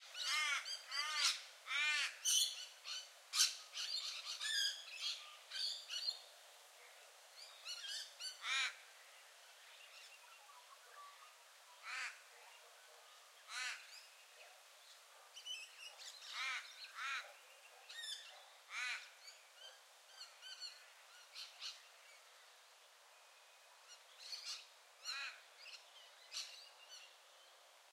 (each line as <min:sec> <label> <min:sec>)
0:00.1 parrots 0:06.1
0:15.4 parrots 0:21.8